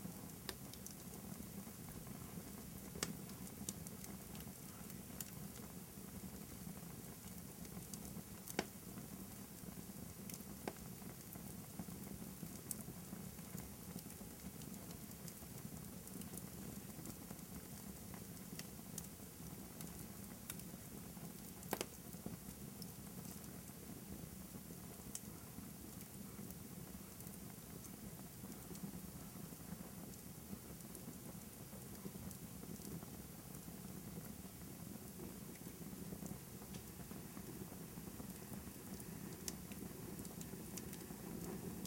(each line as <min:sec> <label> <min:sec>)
0:00.0 small to medium fire in a fireplace 0:41.8
0:21.7 cracks and pops 0:22.0
0:35.6 cracks and pops 0:37.0